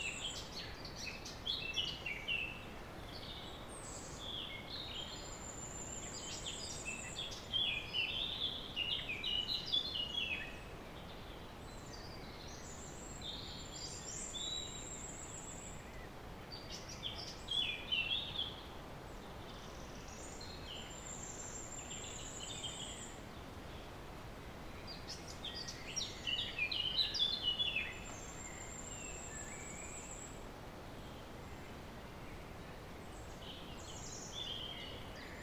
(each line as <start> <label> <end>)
0.0 birds singing resound in the clearing of the valley 35.4